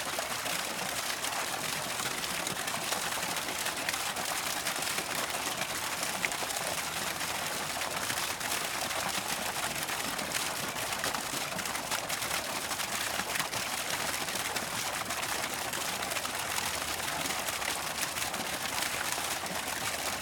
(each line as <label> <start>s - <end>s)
Little fountain 0.0s - 20.2s